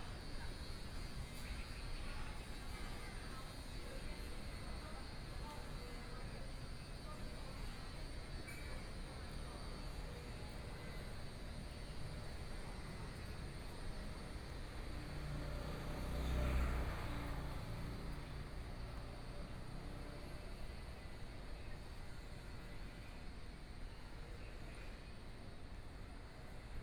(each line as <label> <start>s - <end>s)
Walking in the street 9.2s - 26.3s
Traffic Sound 14.8s - 20.6s